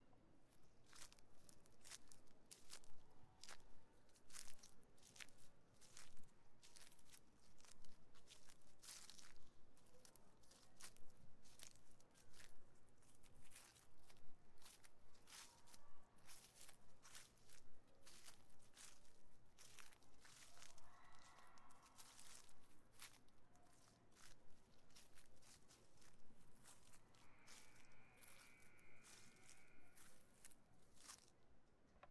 Stomping some leaves 19.6 - 31.3

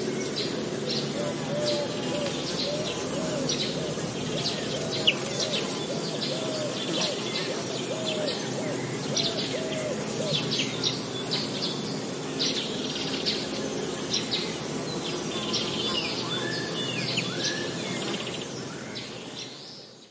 Cuckoo 0.0 - 10.8
airplane passing high 0.0 - 19.3
Traffic noise 0.0 - 19.6
Blackbird 0.0 - 20.1
Warbler 0.0 - 20.1

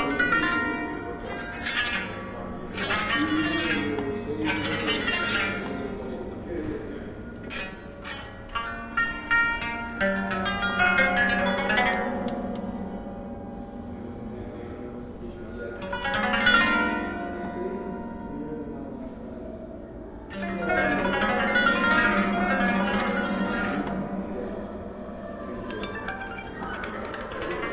Playing a Smetak instrument 0.0 - 27.7

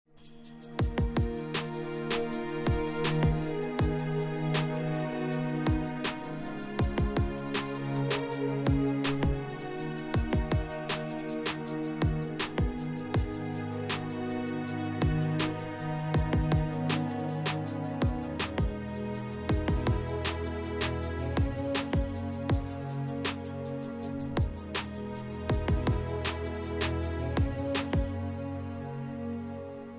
beats 5.6 - 28.1

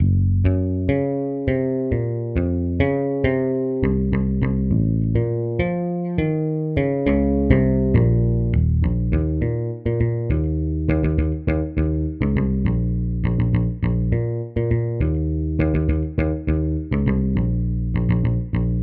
bass guitar riffs 0.0 - 18.8

